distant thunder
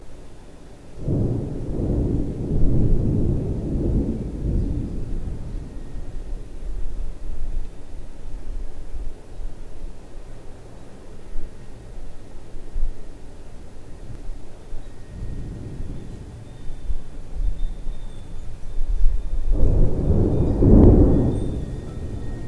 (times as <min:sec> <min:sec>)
0:01.0 0:08.2, 0:14.1 0:22.4